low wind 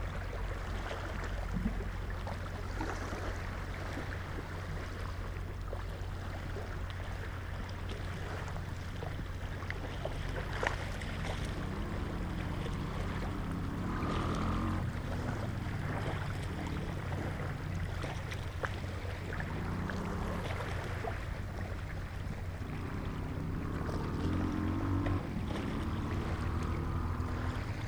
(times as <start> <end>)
6.8 27.8